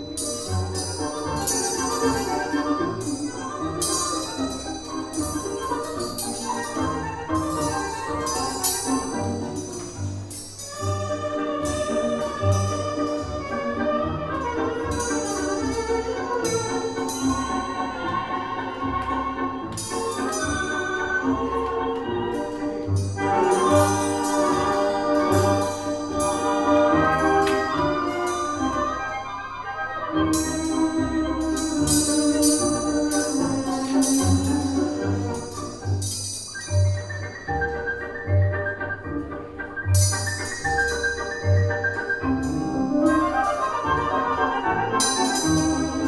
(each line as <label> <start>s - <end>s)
tango 0.0s - 46.0s
metal coat hangers 0.1s - 13.7s
metal coat hangers 30.4s - 37.3s